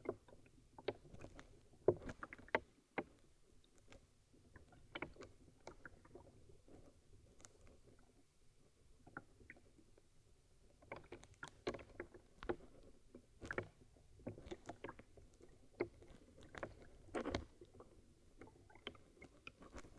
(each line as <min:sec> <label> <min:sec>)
0:10.8 plastic bottles in half frozen river 0:19.9